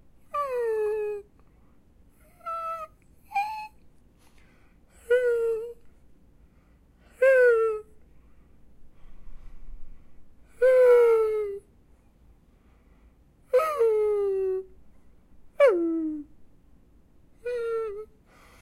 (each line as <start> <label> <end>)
2.2 Dog whining impression 3.8